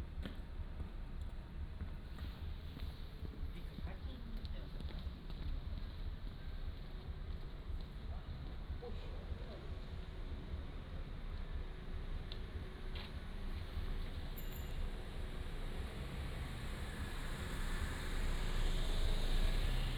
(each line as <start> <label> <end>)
0.0 Traffic Sound 19.9